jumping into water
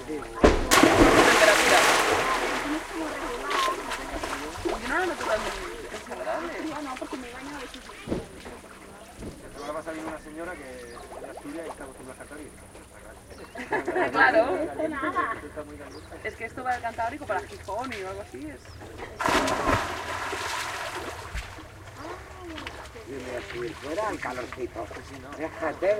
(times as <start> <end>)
0.0 9.5, 19.2 21.8